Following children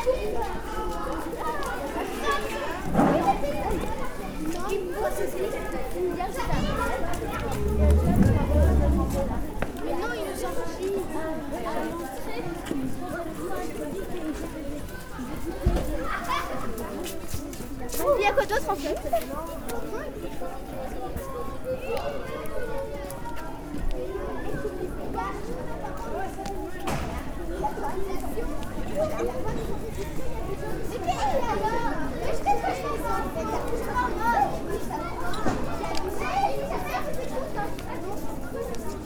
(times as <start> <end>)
4.4 9.8